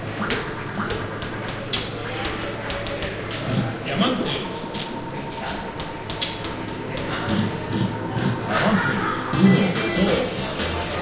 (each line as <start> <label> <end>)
6.5 slot machine arcade 11.0